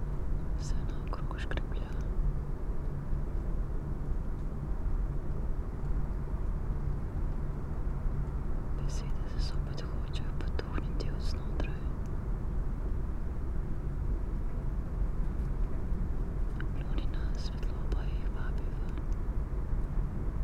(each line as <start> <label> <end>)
0.0 traffic hum 20.4
0.6 whisperings and spoken words 2.1
8.8 whisperings and spoken words 12.0
16.6 whisperings and spoken words 19.0